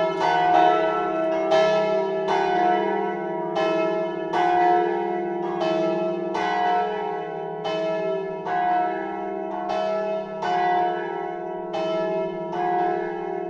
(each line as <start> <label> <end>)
0.0 Church Bell 13.4